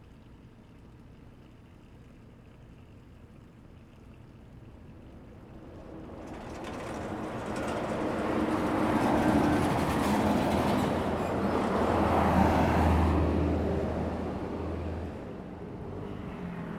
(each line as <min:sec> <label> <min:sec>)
0:05.6 Traffic Sound 0:16.7